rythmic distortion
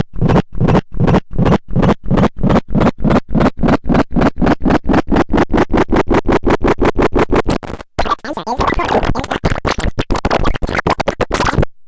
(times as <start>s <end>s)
7.5s 11.6s